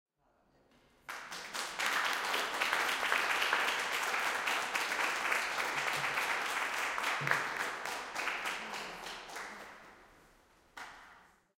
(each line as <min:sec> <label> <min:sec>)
0:01.0 Applause after lecture 0:10.1
0:10.7 Applause after lecture 0:11.3